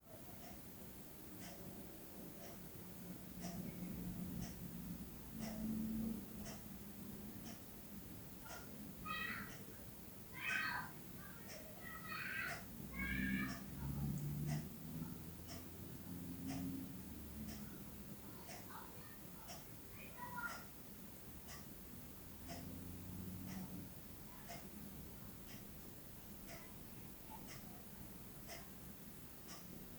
Clock Ticking 0.3 - 29.9
Children Playing Outside 8.4 - 15.6
Children Playing Outside 17.5 - 20.8

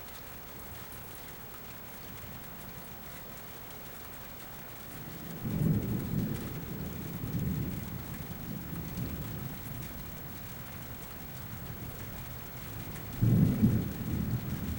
Thunder 5.0 - 14.7

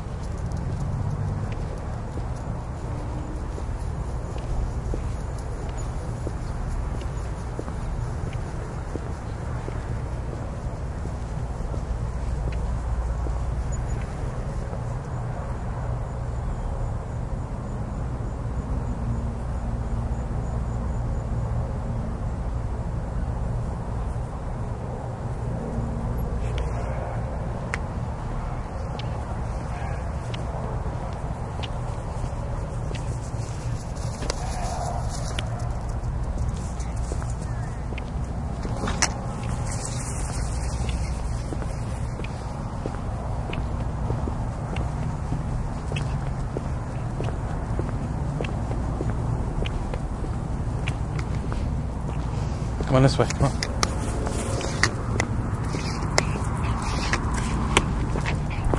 walkingdog 0.0 - 15.7
walkingdog 25.6 - 58.7

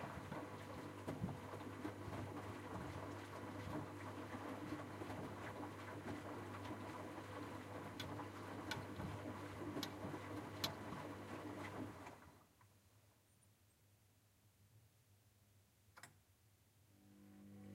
washing machine washing 0.0 - 12.4

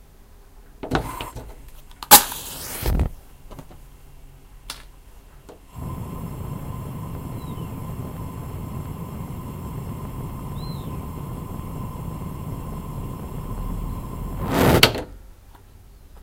starting a gas burner 0.9 - 1.4
fire 1.0 - 3.2
striking a match 1.9 - 3.2
starting a gas burner 2.1 - 3.0
fire 5.7 - 15.0
starting a gas burner 5.7 - 15.0
a bird whistles through the chimney 7.0 - 9.1
a bird whistles through the chimney 10.2 - 11.7
striking a match 13.9 - 15.0

